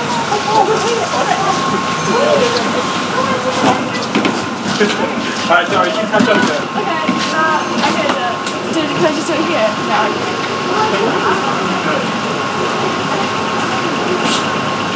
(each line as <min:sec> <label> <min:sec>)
0:00.0 people 0:14.9
0:00.0 traffic 0:14.9
0:00.0 trams 0:14.9